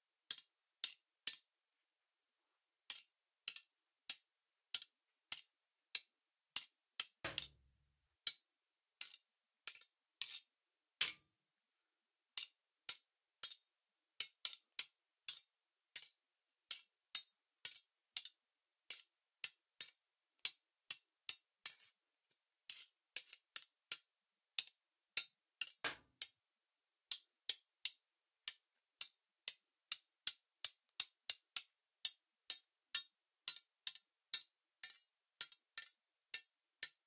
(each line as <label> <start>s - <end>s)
scrape 21.7s - 22.0s